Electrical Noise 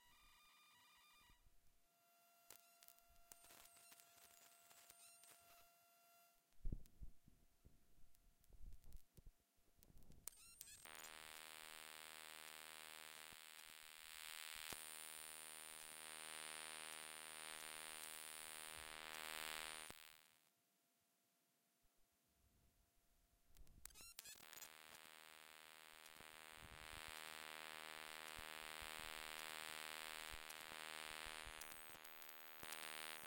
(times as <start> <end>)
10.8 20.4, 24.1 33.2